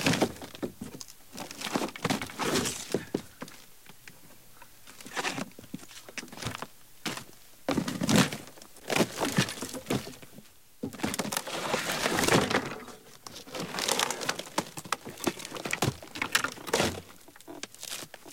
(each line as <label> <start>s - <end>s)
Wood-handling 5.0s - 18.3s